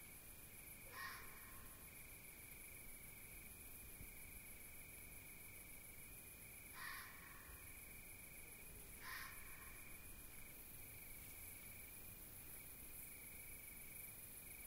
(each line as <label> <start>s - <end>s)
crickets 0.0s - 14.6s
barking roe deer 9.0s - 9.8s